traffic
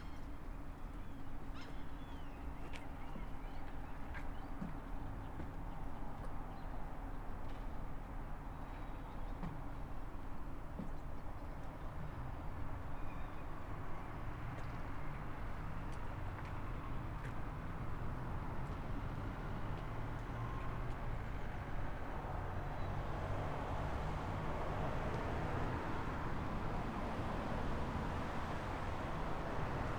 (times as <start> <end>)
13.6 29.9